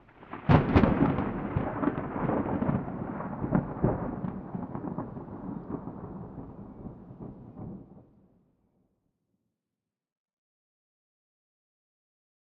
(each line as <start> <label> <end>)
0.0 Thunder 8.2